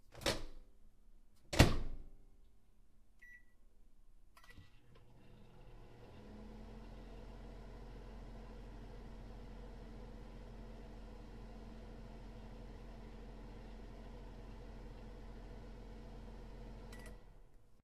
Microwave start 4.4 - 17.6

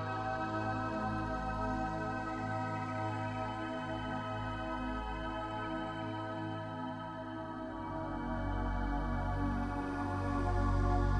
synthesizer 0.0 - 11.1

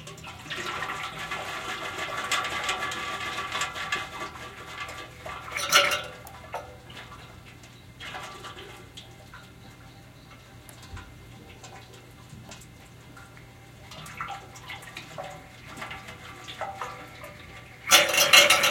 Radiator filling up with water 0.0 - 18.7
clanging noise 2.2 - 6.7
clanging noise 17.8 - 18.7

